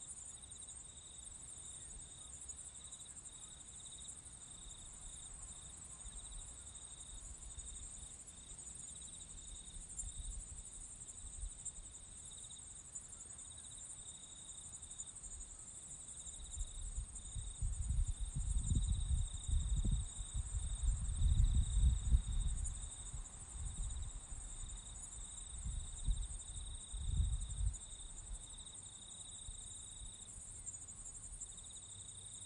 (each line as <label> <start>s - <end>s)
crickets 0.0s - 32.4s